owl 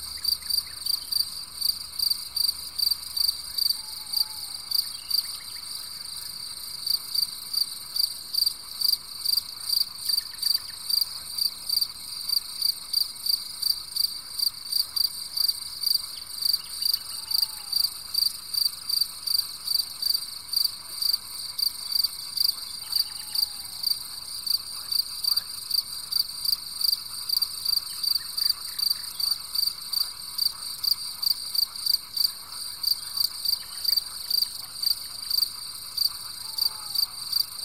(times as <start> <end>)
3.7 5.4, 16.8 17.9, 22.7 23.8, 36.4 37.2